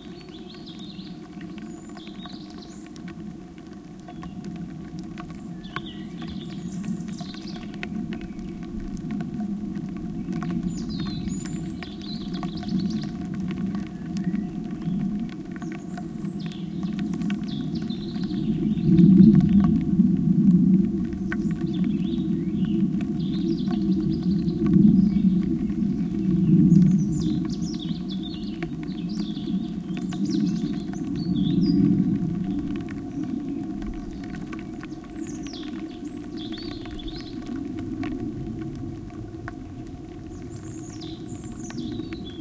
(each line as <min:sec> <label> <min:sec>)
0:04.1 wind on pipes 0:42.4